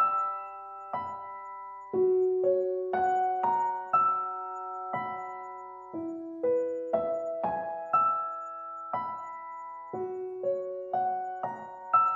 Piano 0:00.0 - 0:12.1

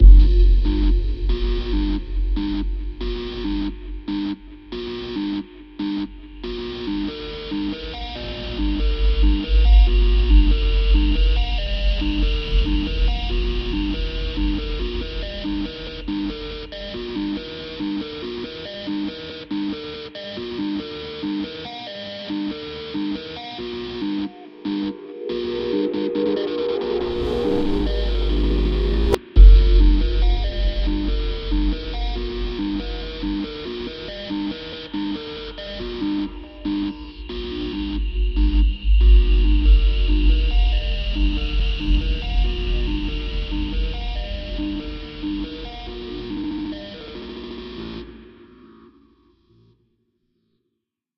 Bass 0:00.0 - 0:18.4
Pad 0:00.0 - 0:18.6
Drums 0:00.0 - 0:19.0
Drone 0:00.0 - 0:19.3
Drone 0:22.7 - 0:49.2
Pad 0:23.0 - 0:49.0
Drums 0:24.0 - 0:48.1
Bass 0:26.2 - 0:48.2

